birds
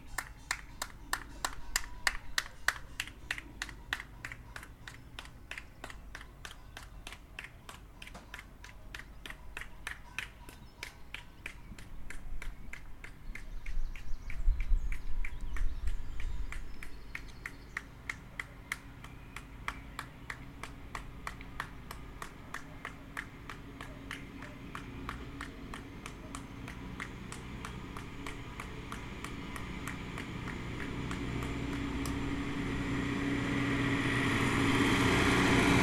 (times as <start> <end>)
8.0 27.8